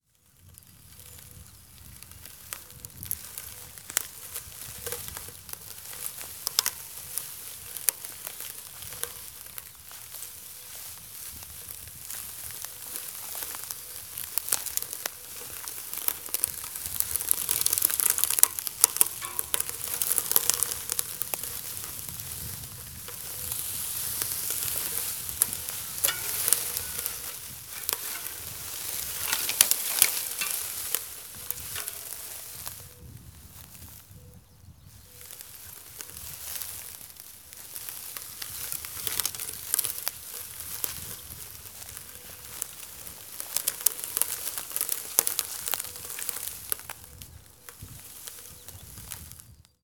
0.0s crunchy dried stalk 34.2s
34.9s crunchy dried stalk 49.8s

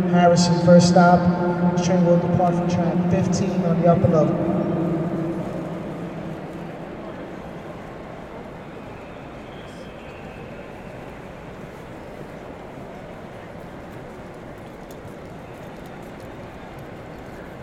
0.0s Train announcements 11.9s

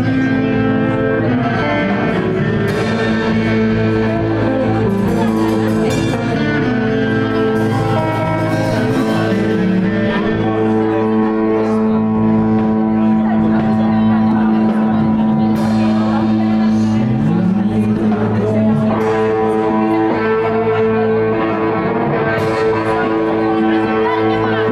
0.0s drums 24.7s
0.0s guitars 24.7s
0.0s lute 24.7s

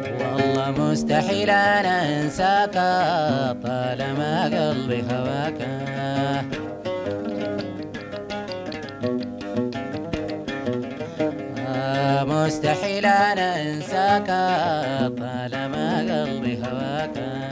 0.0s singer 6.7s
11.6s singer 17.5s

